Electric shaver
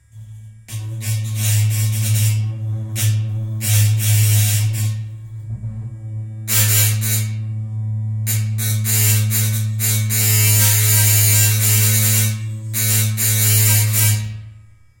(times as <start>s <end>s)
8.3s 14.4s